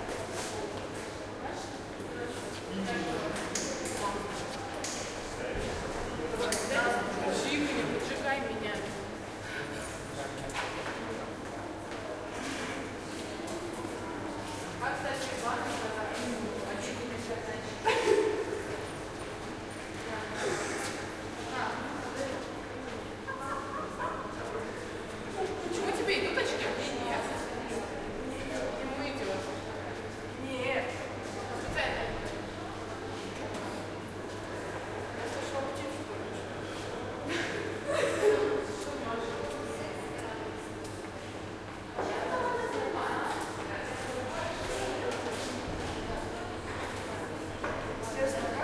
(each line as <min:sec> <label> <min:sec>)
0:13.4 People talking 0:18.8
0:20.0 People talking 0:33.9
0:42.0 People talking 0:48.6